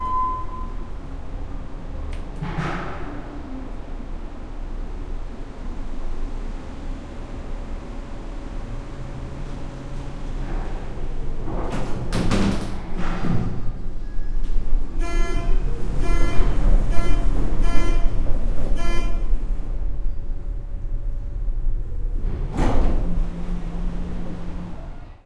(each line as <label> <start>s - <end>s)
elevator 0.0s - 5.0s
elevator 6.6s - 25.2s
doors 10.3s - 14.7s